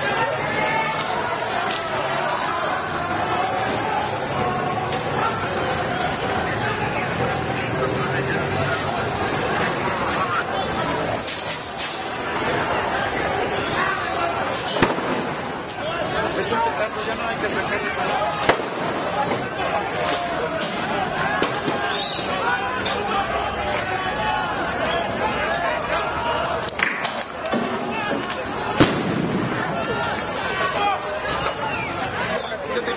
Demonstrations in the streets 0.0 - 32.9

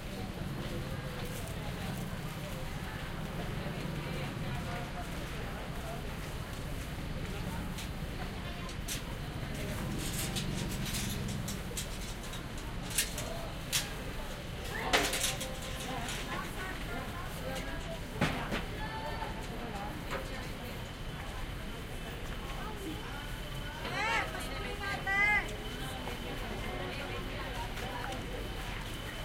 crowd 0.0 - 29.2
jeepney 0.0 - 29.2
motorcycle 9.5 - 11.6

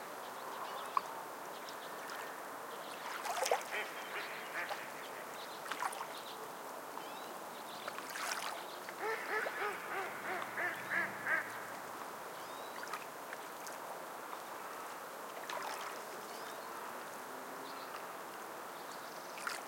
ducks in the water 0.0 - 6.4
waves 0.0 - 19.6
crows in the trees 0.3 - 6.6
ducks in the water 7.0 - 19.6
crows in the trees 8.4 - 12.9

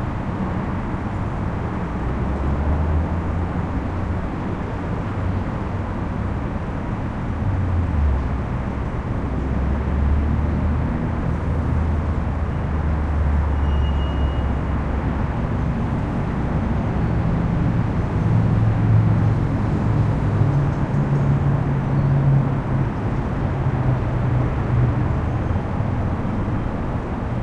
traffic overhead 0.0 - 27.4

